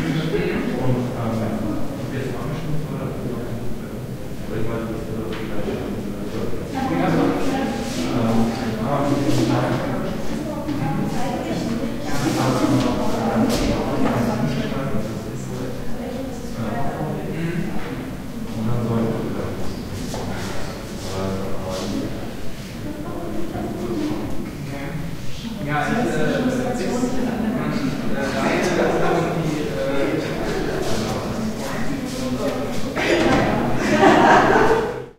People talking 0.0 - 35.1

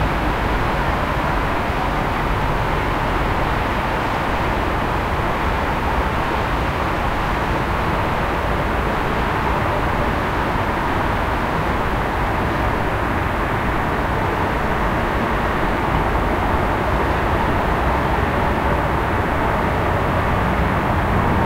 city background noise 0.0 - 21.4

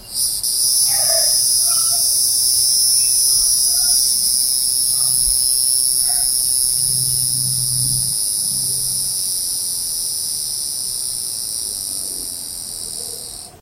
cicada 0.0 - 13.6

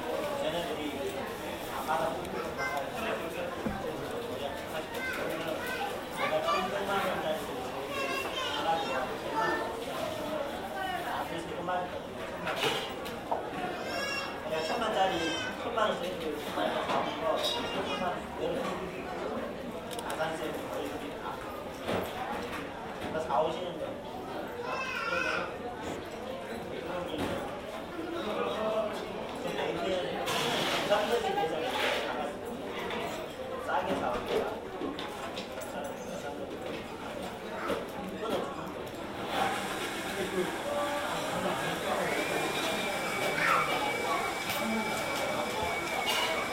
people talking 35.7 - 46.5

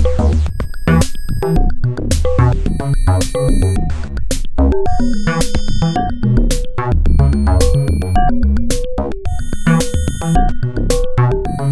bass 0.0 - 11.7
drums 0.0 - 11.7
synthesizer 0.0 - 11.7

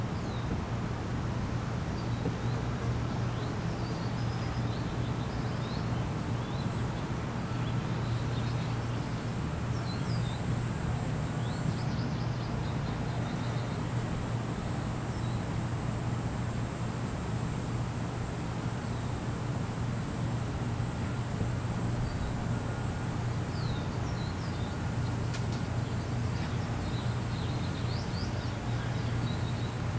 Crickets 0.0 - 29.9

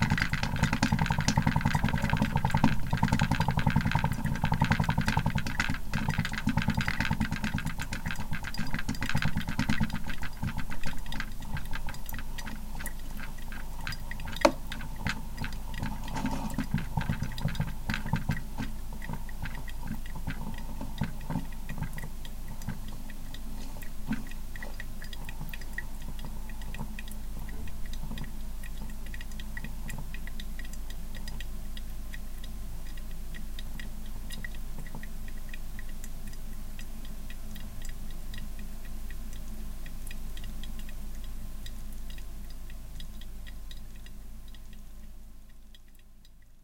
regular coffee machine 0.0 - 36.0

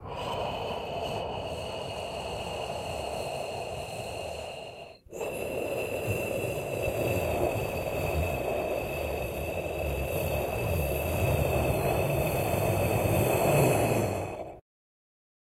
cold winterbreeze 0.0 - 14.6

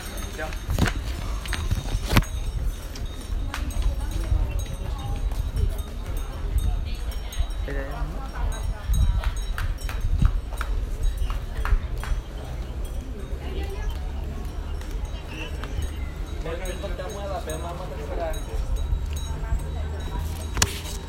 Metal bell sounds 0.0 - 21.0

